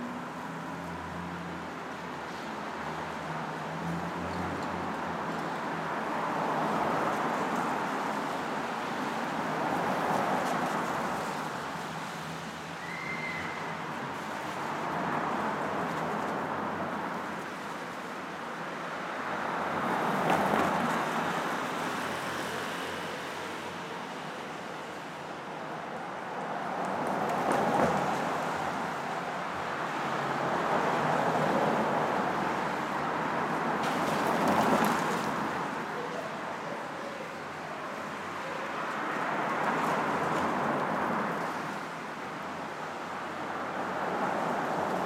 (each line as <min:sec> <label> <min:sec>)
0:00.0 traffic 0:45.0